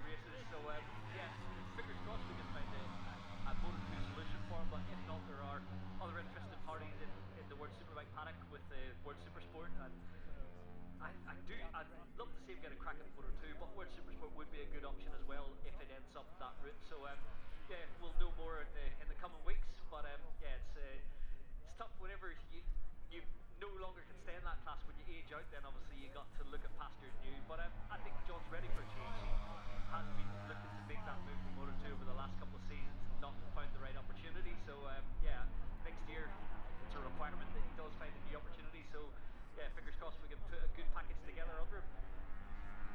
motorcycle grand prix 0.0 - 42.9

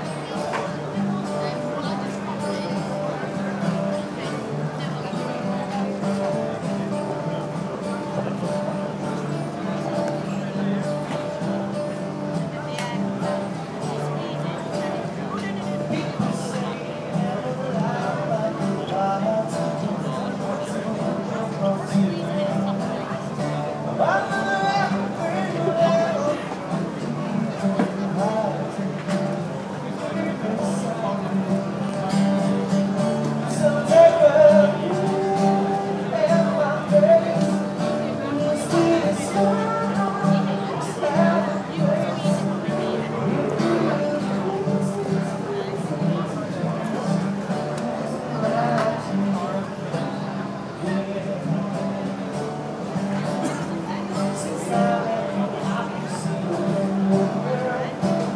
guitar 0.0 - 58.3
people 0.0 - 58.3
Singer 15.9 - 58.3

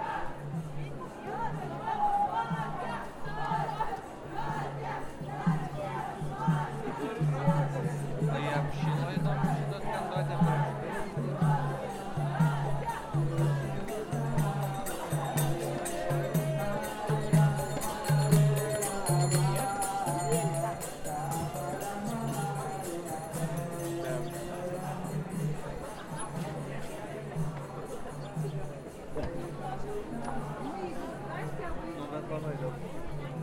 young people start singing 0.0 - 31.6
crowd noise 0.0 - 33.4
street music 0.0 - 33.4

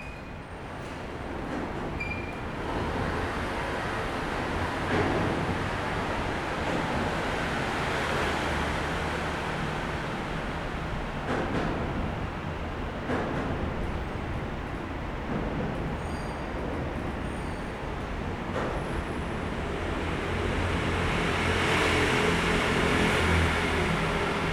Traffic Noise 16.6 - 24.5

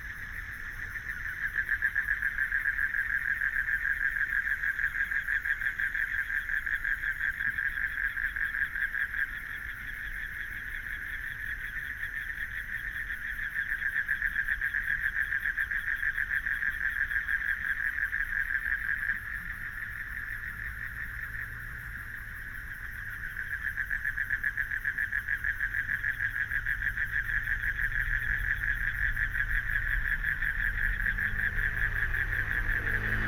Frogs sound 0.0 - 33.2
Traffic Sound 18.8 - 33.2

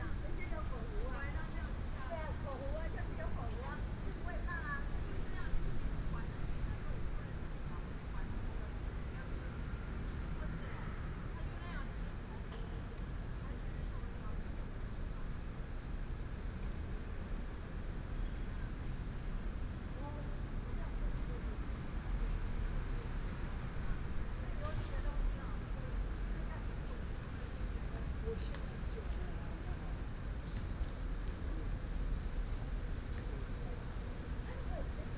Several women are chatting 0.0 - 9.6

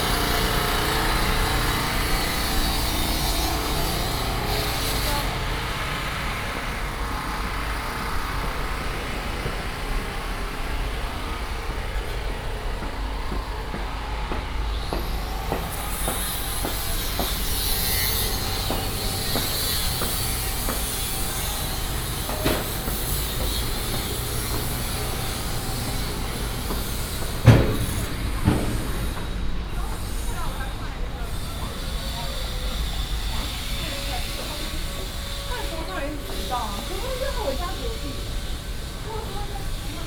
Road construction 0.0 - 40.0

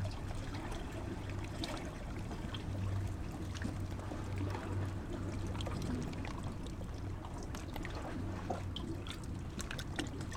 sea 0.0 - 10.3

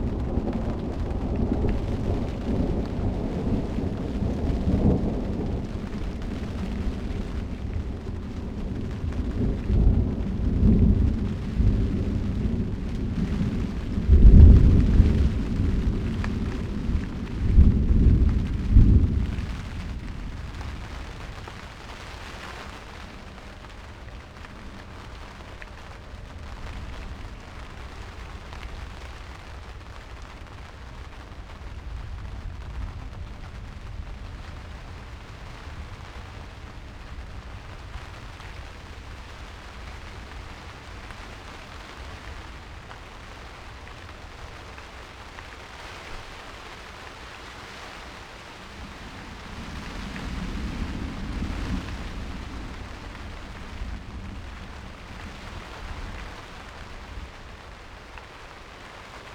thunderstorm 0.0 - 59.3

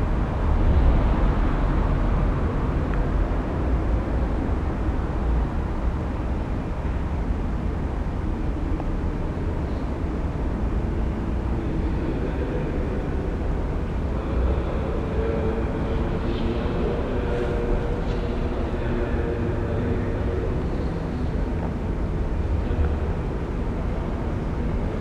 voices 8.8 - 25.0

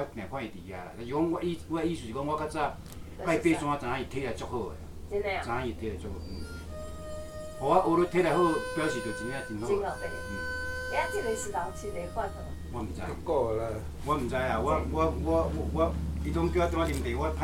Three friends were talking in native Taiwanese language 0.0 - 6.8
Erhu sound 6.0 - 15.0
Three friends were talking in native Taiwanese language 7.6 - 17.4

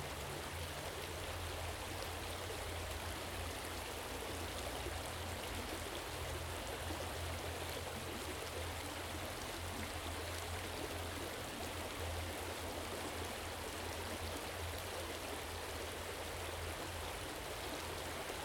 little water stream running down 0.0 - 18.4

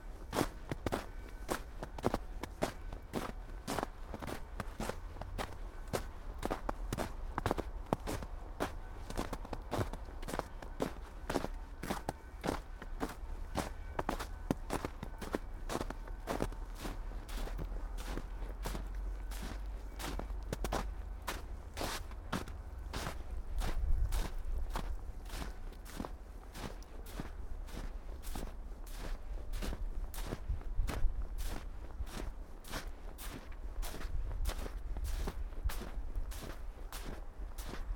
bells 0.0 - 28.2
snow 0.0 - 37.9
steps 0.3 - 37.9

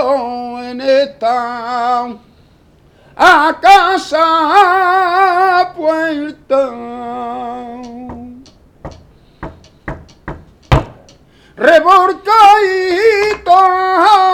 A capella Flamenco 0.0 - 2.3
A capella Flamenco 3.2 - 9.0
A capella Flamenco 11.6 - 14.3

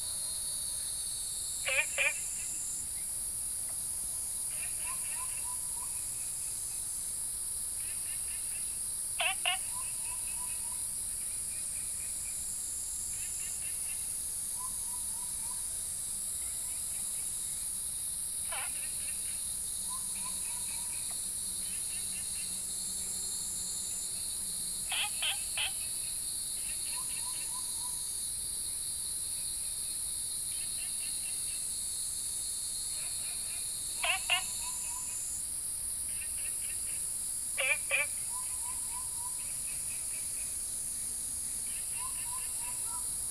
Cicadas cry 0.0 - 43.3
Frogs chirping 1.6 - 3.1
Frogs chirping 7.8 - 12.4
Frogs chirping 18.4 - 22.6
Frogs chirping 24.8 - 28.1
Frogs chirping 32.9 - 35.4
Frogs chirping 36.1 - 40.7
Frogs chirping 41.4 - 43.2

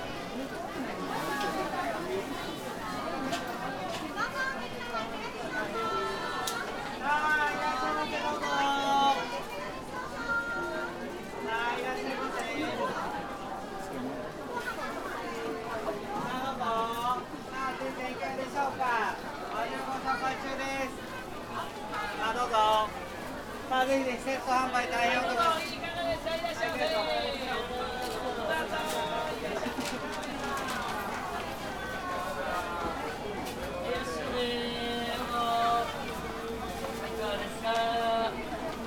river of customers 0.0 - 38.8

